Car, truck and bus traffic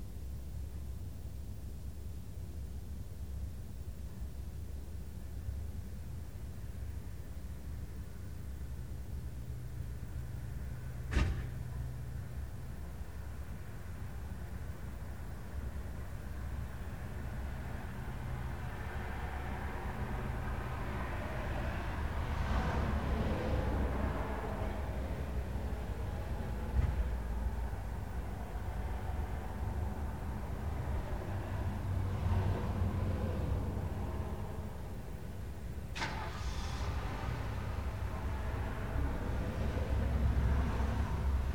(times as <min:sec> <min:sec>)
0:09.5 0:13.3, 0:15.1 0:41.5